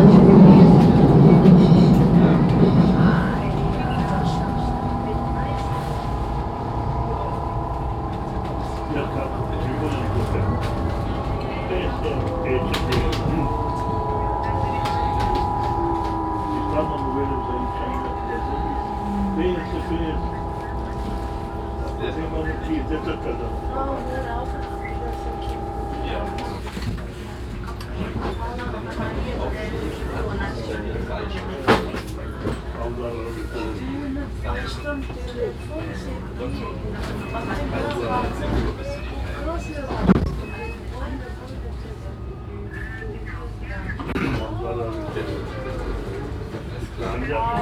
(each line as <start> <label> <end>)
0.0 train announcemens 26.9
0.0 moving train 27.4